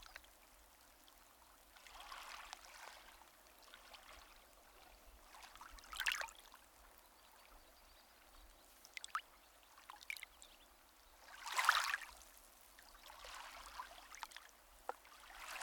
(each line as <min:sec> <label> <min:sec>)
0:00.0 waves, such as they are, just lap against the shore 0:15.6